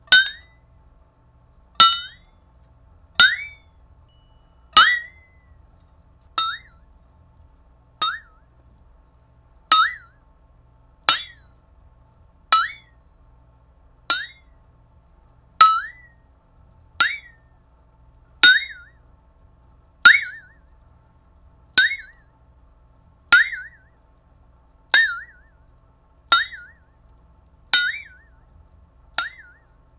Flexatone boings and pings 0.1 - 0.7
Flexatone boings and pings 1.8 - 2.3
Flexatone boings and pings 3.2 - 5.4
Flexatone boings and pings 6.4 - 6.8
Flexatone boings and pings 8.0 - 8.4
Flexatone boings and pings 9.7 - 10.1
Flexatone boings and pings 12.6 - 13.0
Flexatone boings and pings 15.6 - 16.1
Flexatone boings and pings 23.4 - 23.9
Flexatone boings and pings 25.0 - 25.5
Flexatone boings and pings 26.3 - 26.8
Flexatone boings and pings 27.8 - 28.3
Flexatone boings and pings 29.2 - 29.6

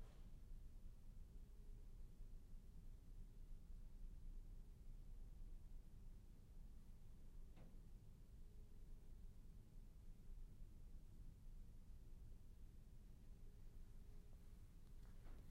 Room Noise 0.0 - 15.5

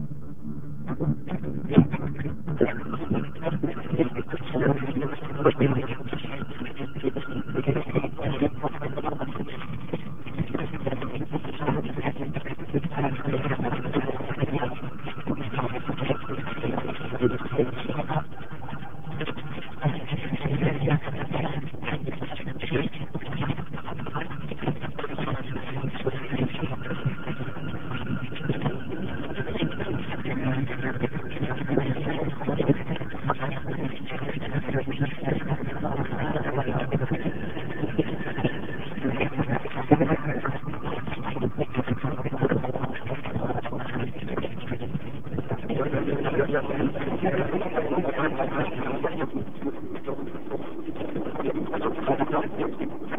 garbled internet stream 0.0 - 53.1

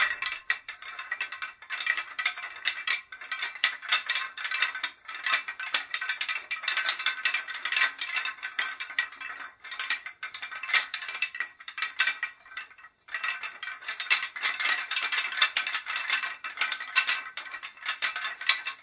Moving a wooden chain with four links 0.0 - 18.8

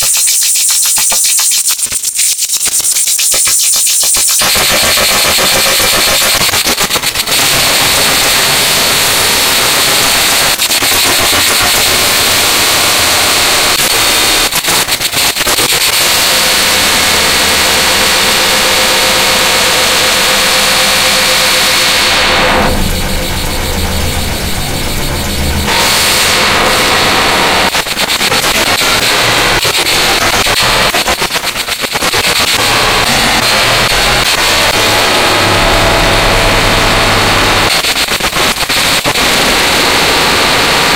live modular jamb 19.3 - 37.8

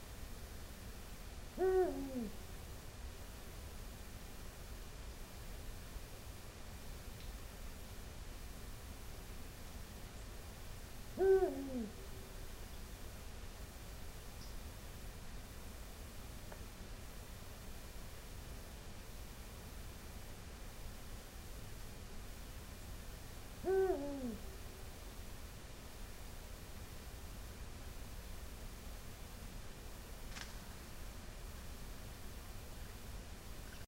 Eagle Owl 1.5 - 2.4
Eagle Owl 11.1 - 12.3
Eagle Owl 23.6 - 24.6
its wing catch some leaves 30.2 - 30.8

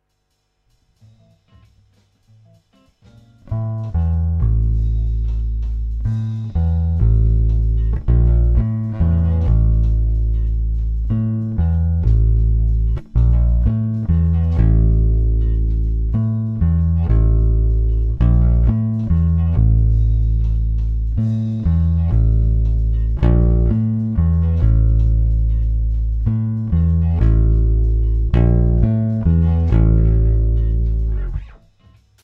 bass 0.0 - 32.2

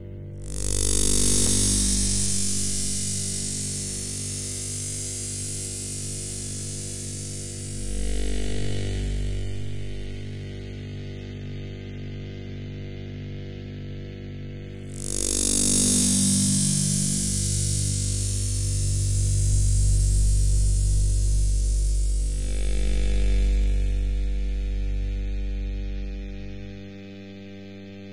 Electric Waves Noise 0.4 - 10.7
Electric Waves Noise 14.9 - 26.6

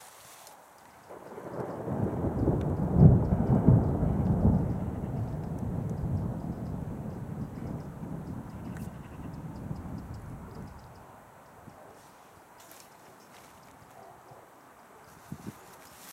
Rain 0.0 - 15.0
Thunder Distant 1.0 - 11.9

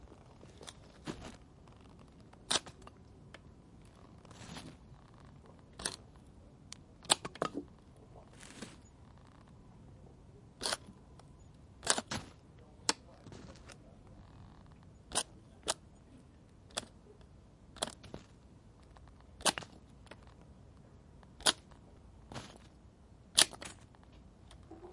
Bypass loppers branch cutter cutting / clipping / snapping wooden sticks and branches 2.4 - 2.9
Bypass loppers branch cutter cutting / clipping / snapping wooden sticks and branches 7.0 - 7.6
Bypass loppers branch cutter cutting / clipping / snapping wooden sticks and branches 11.8 - 13.0
Bypass loppers branch cutter cutting / clipping / snapping wooden sticks and branches 15.1 - 15.8
Bypass loppers branch cutter cutting / clipping / snapping wooden sticks and branches 19.4 - 19.8
Bypass loppers branch cutter cutting / clipping / snapping wooden sticks and branches 21.4 - 21.7
Bypass loppers branch cutter cutting / clipping / snapping wooden sticks and branches 23.4 - 23.8

